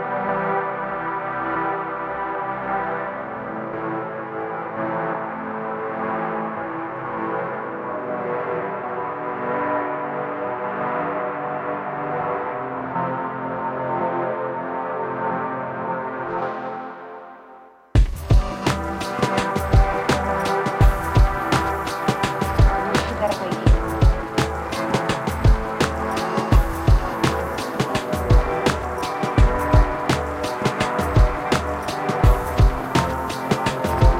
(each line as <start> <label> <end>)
0.0 synth 34.1
18.0 drum 34.1